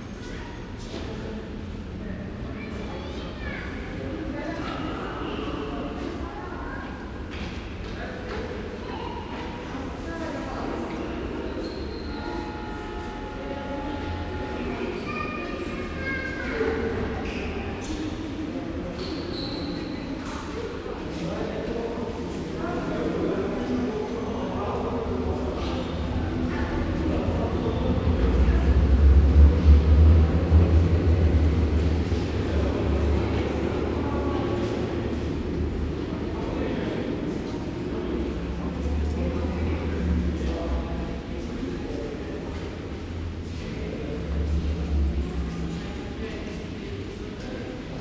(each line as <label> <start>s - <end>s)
people 0.0s - 48.0s